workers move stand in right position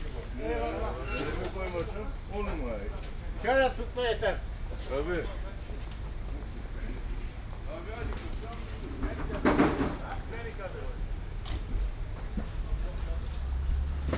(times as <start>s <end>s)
0.0s 3.5s